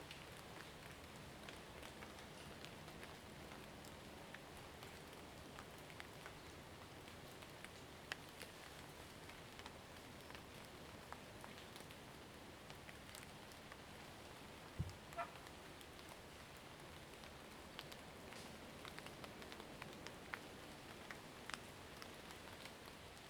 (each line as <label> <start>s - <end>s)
raindrop 0.0s - 23.2s